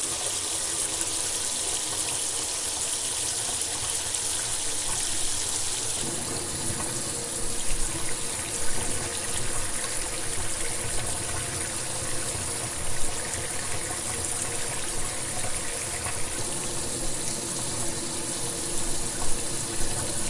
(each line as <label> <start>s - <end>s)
Single stream of water in metal sink 0.0s - 20.2s